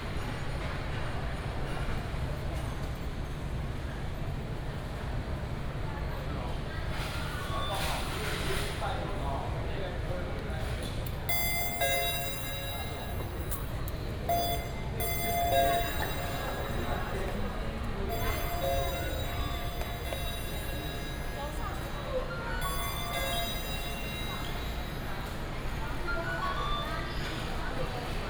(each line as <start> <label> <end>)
11.3 Convenience store sound 28.2
11.3 Ticket counter sound 26.8